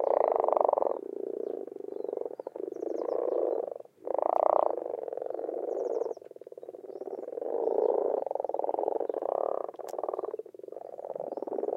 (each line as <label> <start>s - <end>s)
Frogs Croaking 0.0s - 11.7s